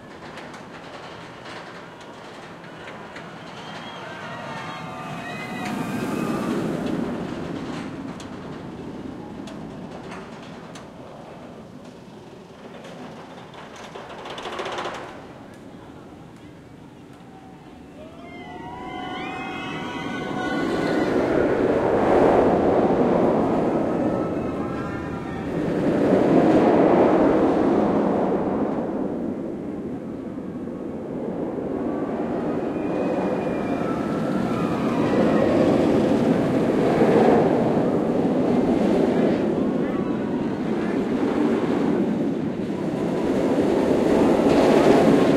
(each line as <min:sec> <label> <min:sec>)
0:00.0 big steel roller coaster 0:45.3